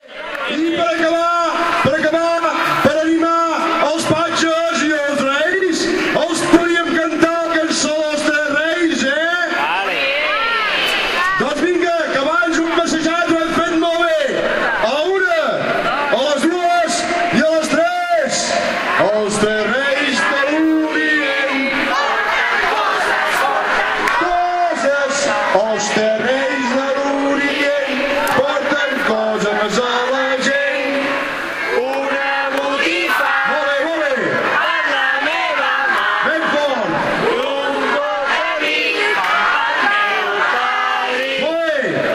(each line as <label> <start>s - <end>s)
people sings 18.4s - 42.1s